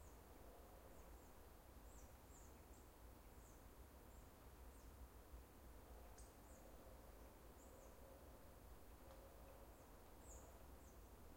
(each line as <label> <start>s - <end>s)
birds 8.9s - 11.3s